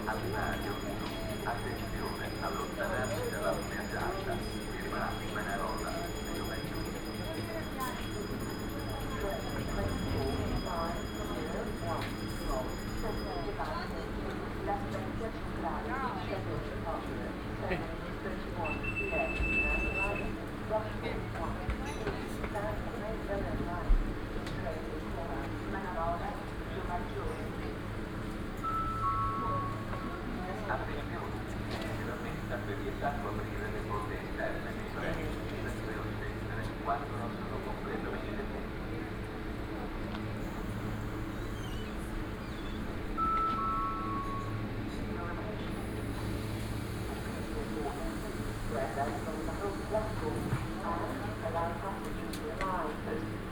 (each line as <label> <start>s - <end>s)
two little electric bells 0.0s - 14.0s
two little electric bells 28.6s - 30.4s
two little electric bells 40.4s - 44.8s